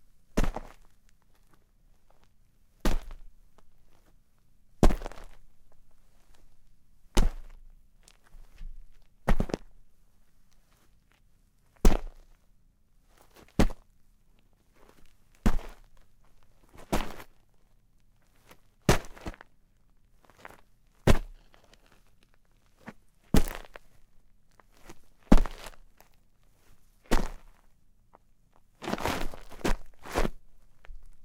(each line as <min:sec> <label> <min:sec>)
0:00.4 footsteps boots gravel dirt quick but separated 0:01.5
0:02.8 footsteps boots gravel dirt quick but separated 0:03.2
0:04.8 footsteps boots gravel dirt quick but separated 0:05.4
0:07.2 footsteps boots gravel dirt quick but separated 0:07.6
0:08.6 footsteps boots gravel dirt quick but separated 0:09.7
0:11.8 footsteps boots gravel dirt quick but separated 0:12.2
0:13.3 footsteps boots gravel dirt quick but separated 0:13.8
0:14.8 footsteps boots gravel dirt quick but separated 0:16.0
0:16.7 footsteps boots gravel dirt quick but separated 0:17.3
0:18.4 footsteps boots gravel dirt quick but separated 0:19.4
0:20.2 footsteps boots gravel dirt quick but separated 0:22.0
0:22.8 footsteps boots gravel dirt quick but separated 0:23.8
0:24.7 footsteps boots gravel dirt quick but separated 0:26.1
0:27.1 footsteps boots gravel dirt quick but separated 0:27.6
0:28.8 footsteps boots gravel dirt quick but separated 0:31.2